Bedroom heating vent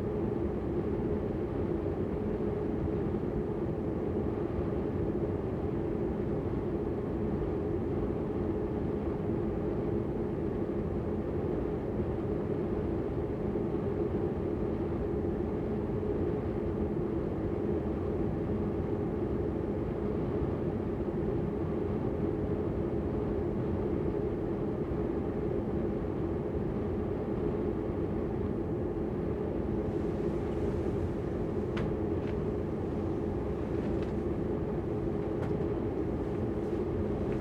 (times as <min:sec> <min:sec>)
0:29.6 0:37.4